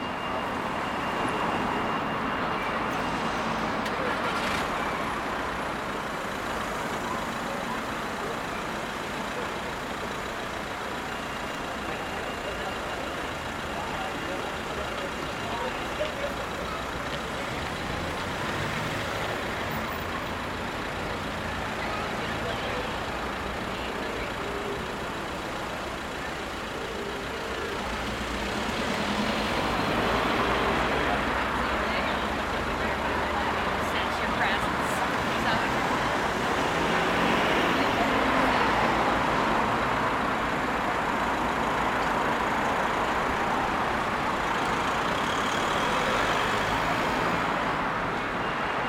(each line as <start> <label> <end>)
0.0 groups chatting 48.0
0.0 emergency vehicle distant siren 48.8
0.0 vehicles passing 48.8